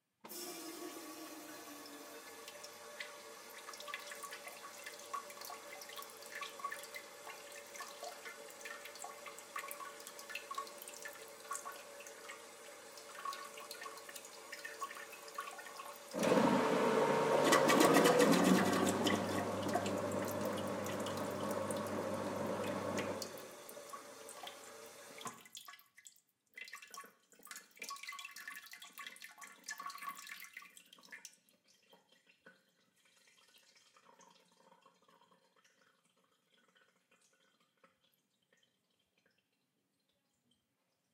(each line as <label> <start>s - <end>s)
drive out of water from the toilet 16.1s - 23.4s